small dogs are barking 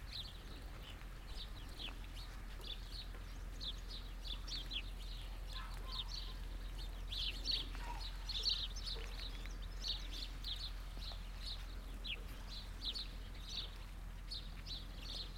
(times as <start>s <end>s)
5.5s 6.4s, 7.5s 9.6s